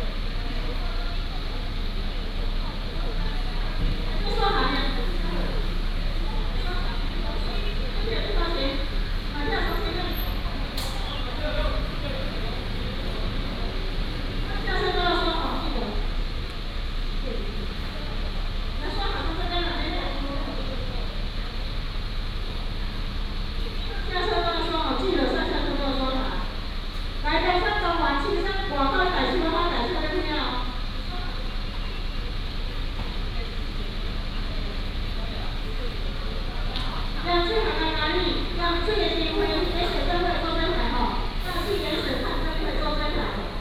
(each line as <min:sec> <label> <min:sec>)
0:00.0 Traffic sound 0:43.6
0:33.6 Station broadcasting 0:43.6